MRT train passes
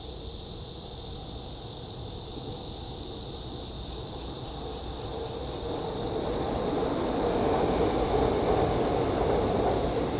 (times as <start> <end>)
4.2 10.1